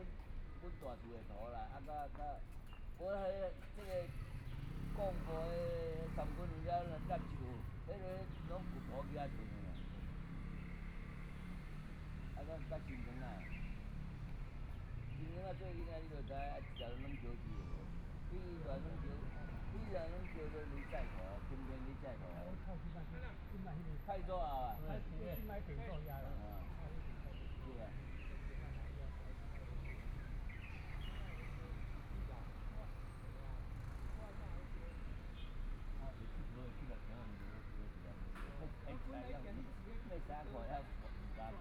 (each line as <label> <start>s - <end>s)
Birds singing 0.0s - 41.6s
Traffic Sound 0.0s - 41.6s
Elderly voice chat 14.9s - 30.1s
Elderly voice chat 35.9s - 41.6s